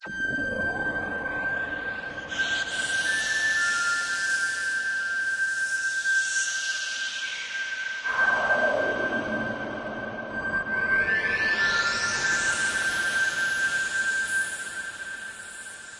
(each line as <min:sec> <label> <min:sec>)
0:00.0 lonely trill with space effects 0:03.4
0:08.1 lonely trill with space effects 0:15.9